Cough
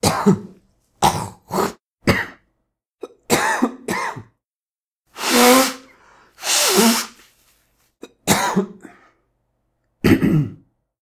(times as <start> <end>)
0.0 4.4, 8.0 9.2, 10.0 10.8